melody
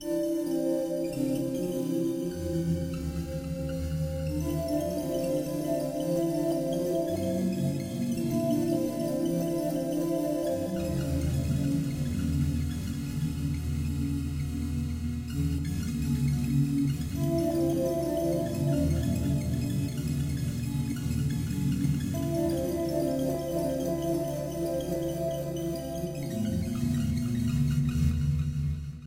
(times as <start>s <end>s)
3.9s 12.9s, 17.1s 21.5s, 22.1s 27.6s